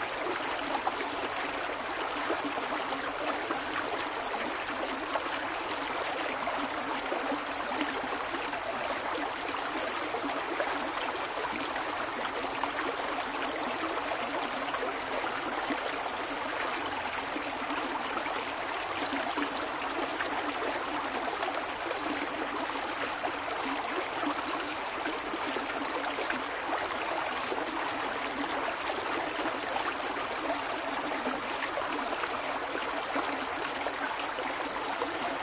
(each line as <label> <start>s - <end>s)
small woodland stream 0.0s - 35.4s